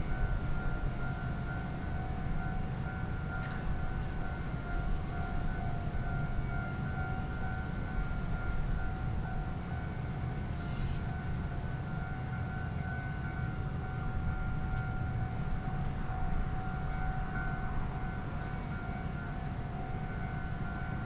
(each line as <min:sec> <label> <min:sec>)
0:00.1 Train traveling through 0:21.0